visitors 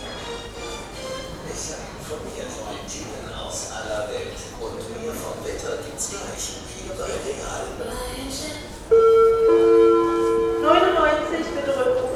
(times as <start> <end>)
8.9 12.1